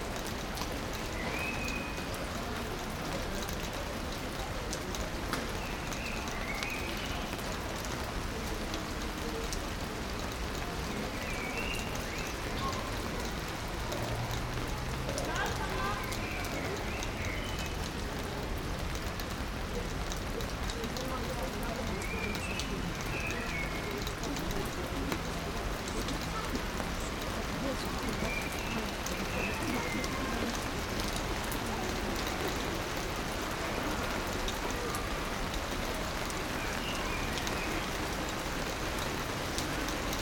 0.0s people walk by 40.2s
0.0s rain 40.2s

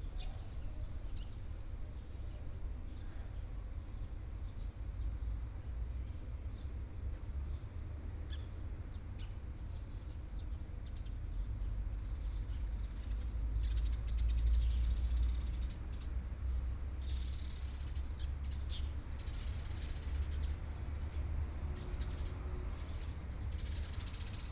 14.7s Traffic Sound 24.5s

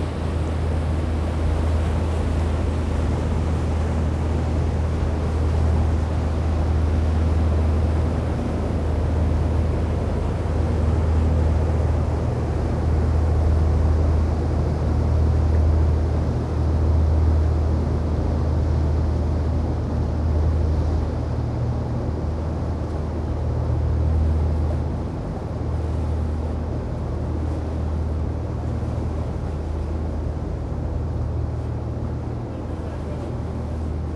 0.0s tourist boats generating waves 34.1s

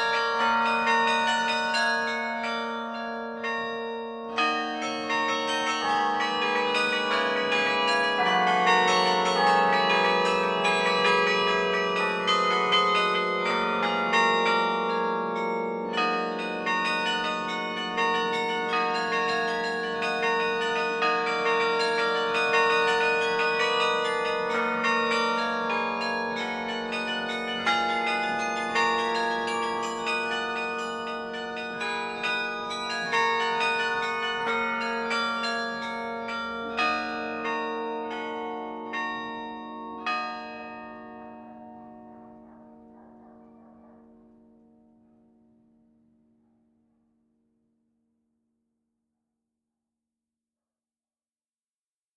0.0s Carillon 45.6s

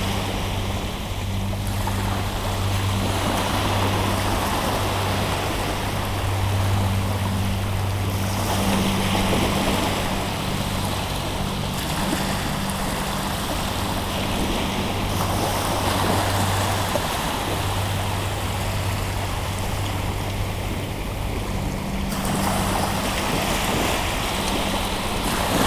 0.0s sea 25.6s

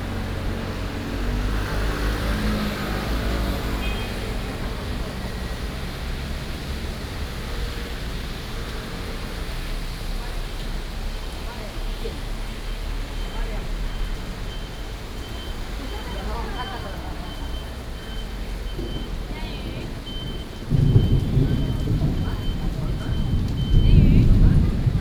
0.0s Traffic Sound 25.0s
17.2s Thunderstorms 25.0s

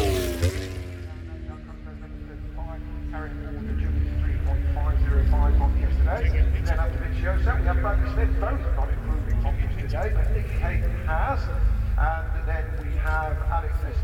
0.0s motorcycle grand prix 14.0s

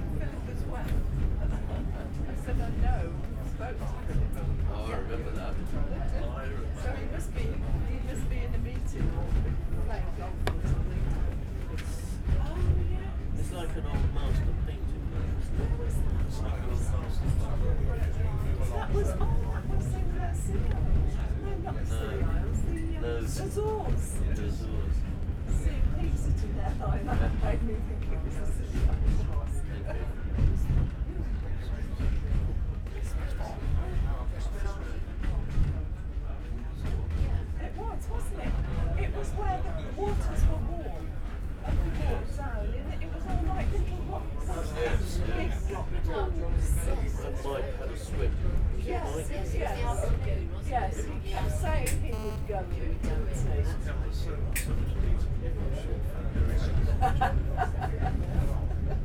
0.0s Steam train journey 51.6s
53.7s Steam train journey 59.0s

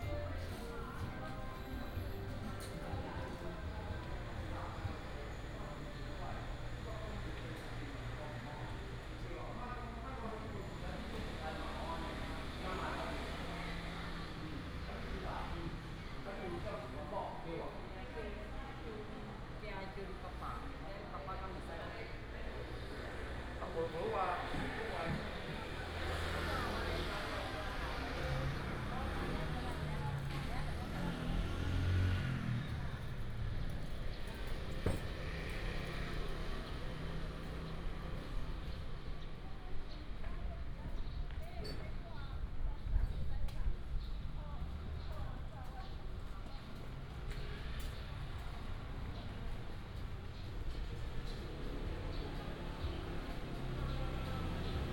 0.0s Walking in the old building market 54.9s
22.4s Traffic sound 40.2s
44.6s Traffic sound 54.9s

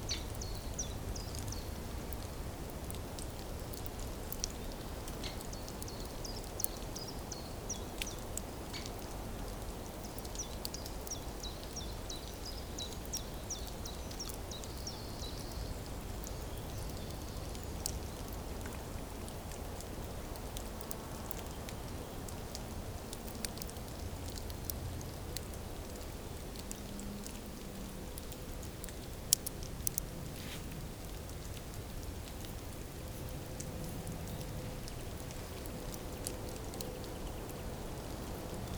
25.5s Ferns growing 38.7s

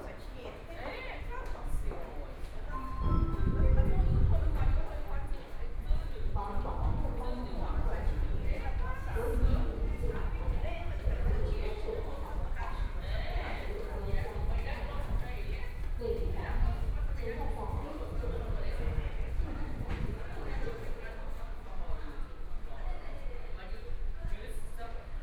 0.0s Walking in the subway station 25.2s
2.5s Subway station broadcast messages 5.3s

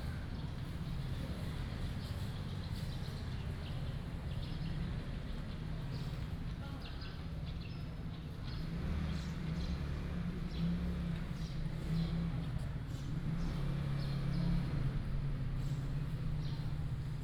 0.0s sound of nearby markets 17.2s
8.2s traffic sound 17.2s

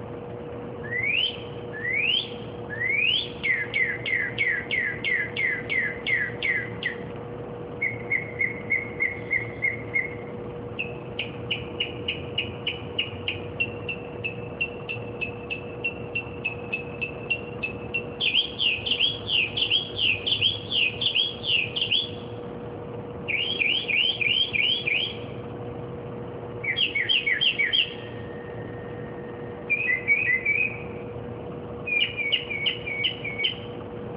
0.0s occasional street noises 34.1s
0.2s bird singing and chirping various car-alarm-like-songs 22.4s
23.2s bird singing and chirping various car-alarm-like-songs 25.4s
26.6s bird singing and chirping various car-alarm-like-songs 33.8s

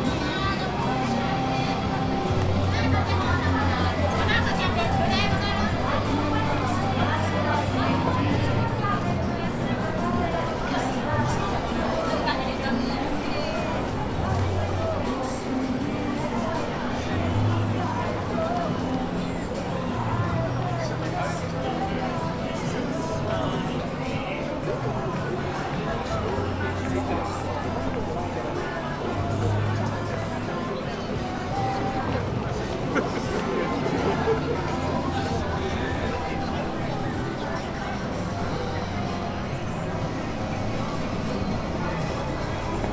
0.0s bustling alley 42.9s
0.0s lots of people around 42.9s

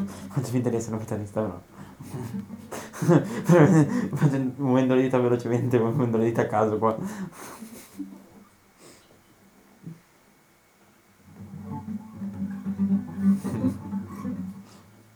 0.0s randomly playing guitar stings 1.4s
11.2s randomly playing guitar stings 15.1s

